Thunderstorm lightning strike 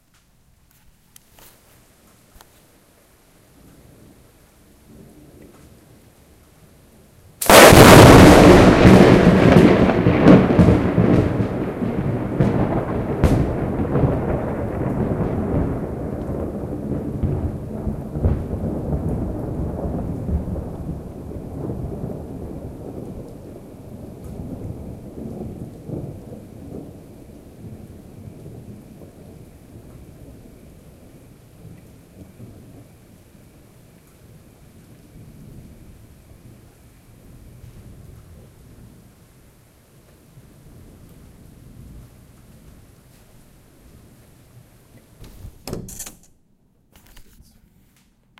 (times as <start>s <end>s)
7.4s 26.8s